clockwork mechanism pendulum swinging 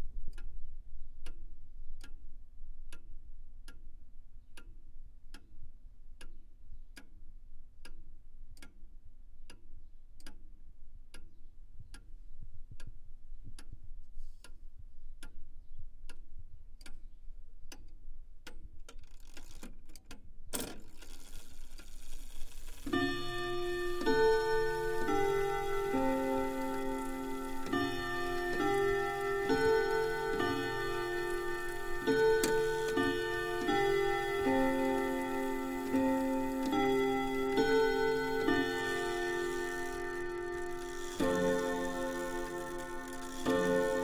0:18.9 0:19.8, 0:20.5 0:44.0

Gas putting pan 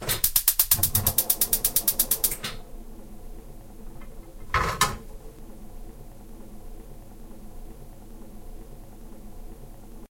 0:00.0 0:02.6, 0:04.0 0:05.4

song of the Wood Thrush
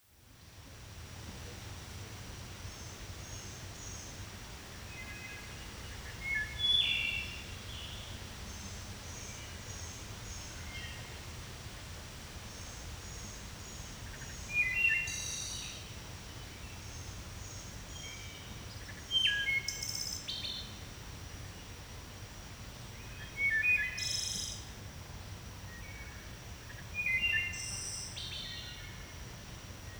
0:02.4 0:11.3, 0:12.5 0:20.9, 0:22.8 0:24.8, 0:25.7 0:29.3

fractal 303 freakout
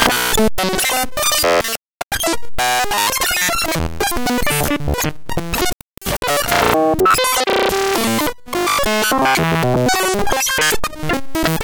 0:06.3 0:08.1

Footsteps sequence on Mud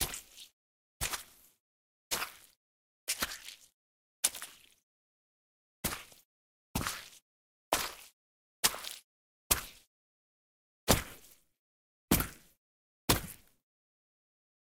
0:00.0 0:04.8, 0:05.8 0:09.9, 0:10.9 0:11.4, 0:12.1 0:13.6

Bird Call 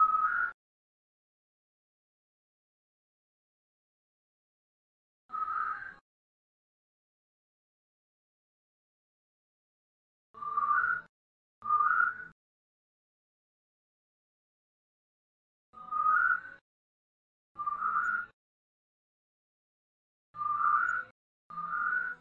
0:00.0 0:00.6, 0:05.3 0:06.0, 0:10.4 0:12.4, 0:15.8 0:16.6, 0:17.6 0:18.4, 0:20.4 0:22.2

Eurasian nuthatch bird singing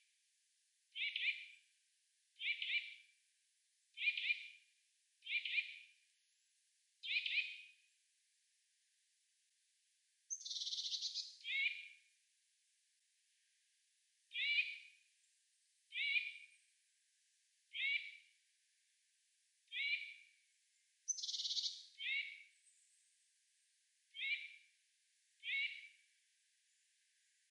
0:01.0 0:01.4, 0:02.4 0:02.9, 0:04.0 0:04.4, 0:07.0 0:07.6, 0:10.3 0:11.9, 0:14.3 0:14.9, 0:15.9 0:16.5, 0:17.7 0:18.1, 0:19.7 0:20.2, 0:21.1 0:22.9, 0:24.1 0:24.6, 0:25.4 0:25.9

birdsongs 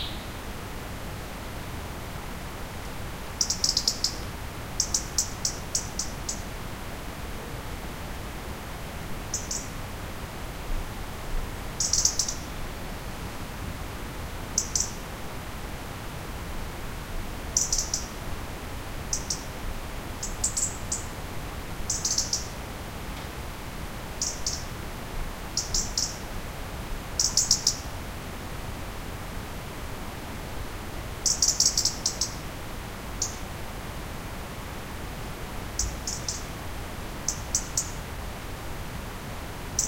0:00.0 0:00.4, 0:21.9 0:22.5, 0:35.8 0:36.5

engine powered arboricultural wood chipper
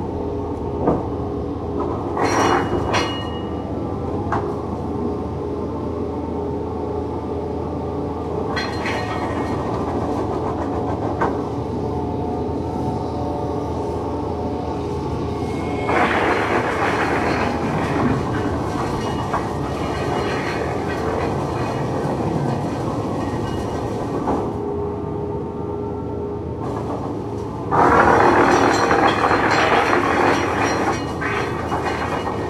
0:15.6 0:22.0, 0:27.6 0:32.4

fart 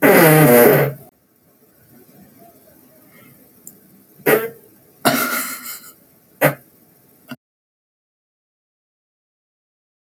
0:00.0 0:01.1, 0:04.2 0:06.7

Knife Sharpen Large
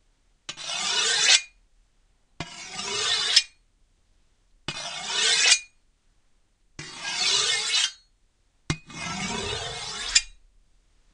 0:00.5 0:01.5, 0:02.4 0:03.6, 0:04.7 0:05.7, 0:06.8 0:08.0, 0:08.7 0:10.4

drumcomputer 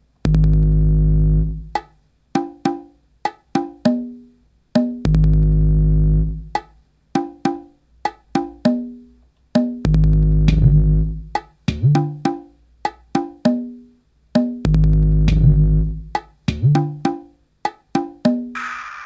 0:14.4 0:17.0, 0:18.5 0:19.0

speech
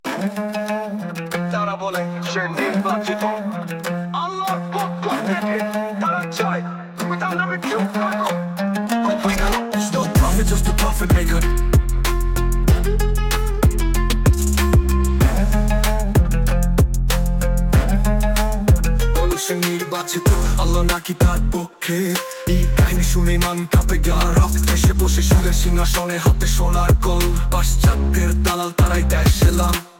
0:04.2 0:08.3

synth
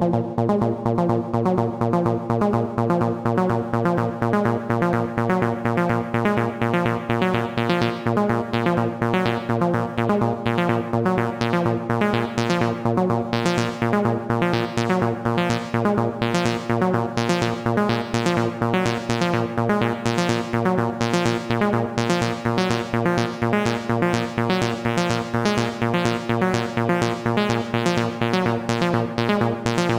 0:24.1 0:29.9

